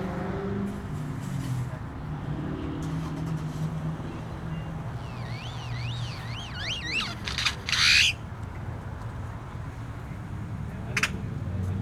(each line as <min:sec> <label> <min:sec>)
0:00.0 Traffic sounds 0:11.8
0:05.0 Solitary male Grackle calls 0:08.2